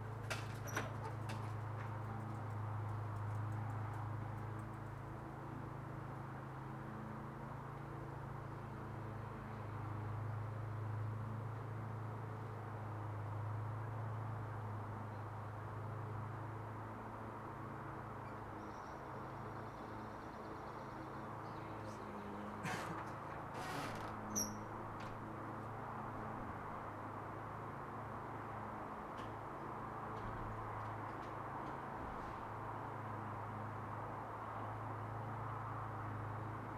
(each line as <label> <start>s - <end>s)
busy Galway-Headford road 19.4s - 36.7s
lawnmowers 22.6s - 24.5s